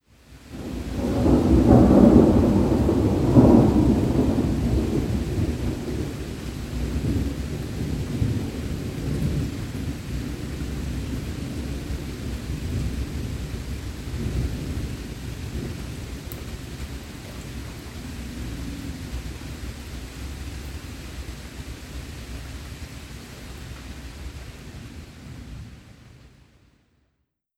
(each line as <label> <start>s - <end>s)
distant static-like rain 0.1s - 26.8s
big thunder boom, then rumble 0.6s - 16.1s